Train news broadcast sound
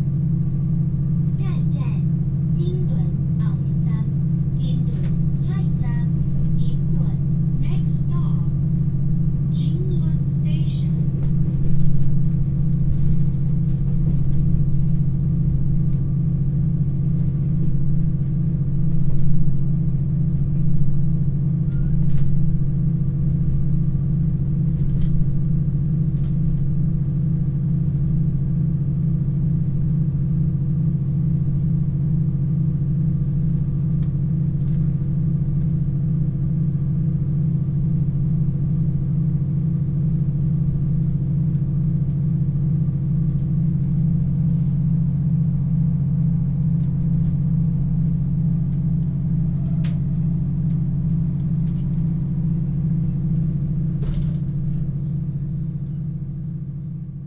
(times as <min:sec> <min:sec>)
0:01.4 0:08.6, 0:09.5 0:11.2